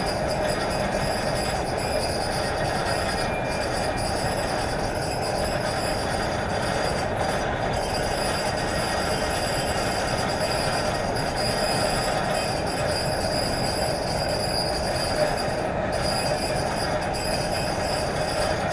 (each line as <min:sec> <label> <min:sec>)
0:00.0 old rusty conveyor 0:18.7